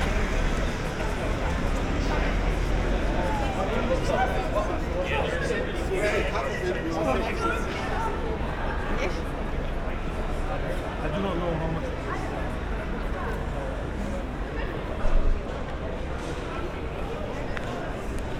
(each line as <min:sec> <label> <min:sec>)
0:00.0 many teenagers are gathering 0:18.3